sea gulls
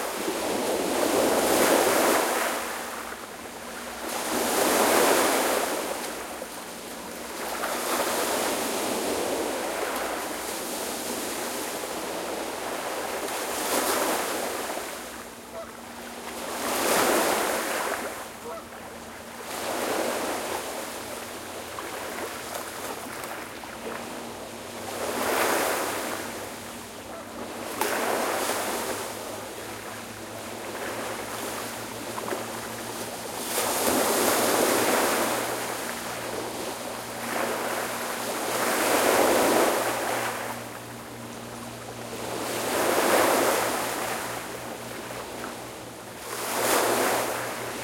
18.4 18.8, 27.1 27.5

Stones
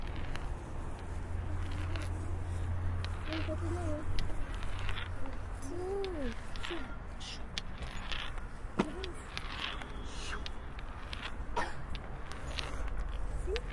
7.5 13.7

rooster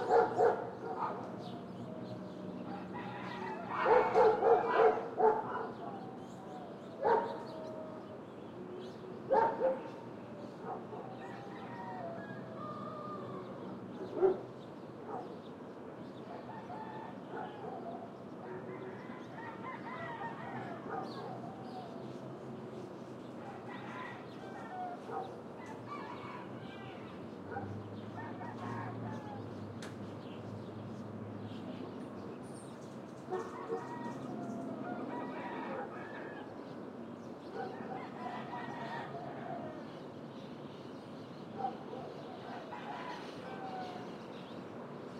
2.7 4.8, 11.0 13.7, 18.5 21.9, 23.4 27.2, 28.1 29.6, 33.4 36.7, 37.6 40.0, 42.4 44.2

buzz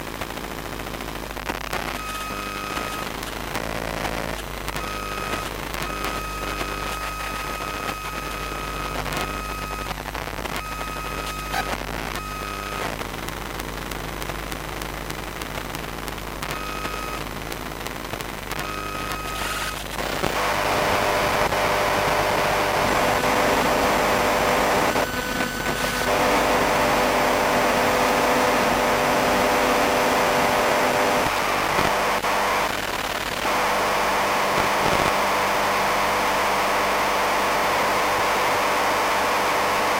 1.7 9.9, 16.4 17.3, 18.6 39.9

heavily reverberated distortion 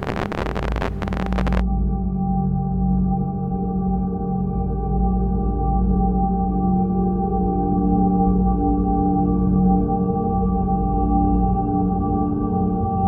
0.0 1.6

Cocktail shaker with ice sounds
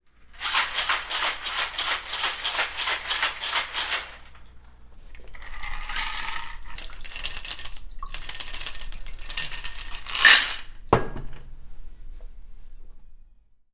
0.3 4.5, 5.2 10.8

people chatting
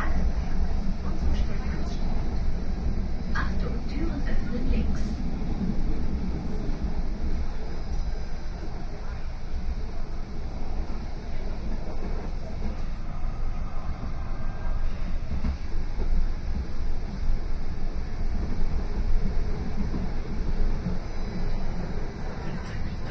0.0 2.4, 3.4 5.2, 22.4 23.1

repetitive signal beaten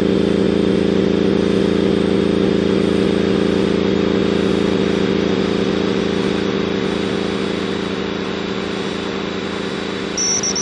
10.2 10.6

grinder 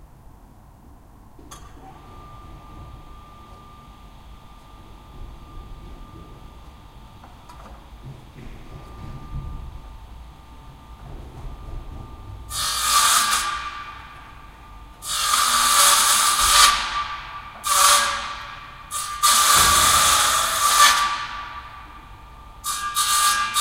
12.5 14.1, 15.0 21.6

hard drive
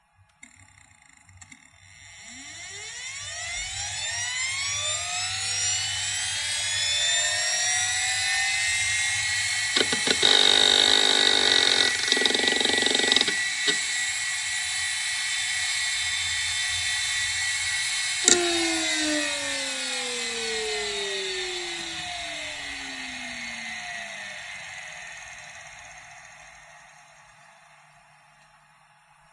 8.6 15.8, 16.6 29.3

